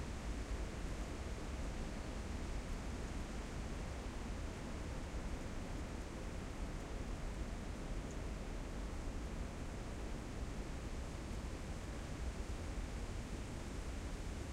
moderate to strong wind in the trees 0:00.0 - 0:14.5

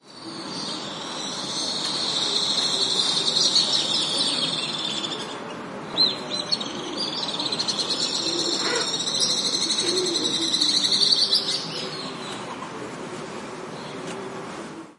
Collared Dove cooings 0:08.2 - 0:09.0
Collared Dove cooings 0:09.7 - 0:10.6

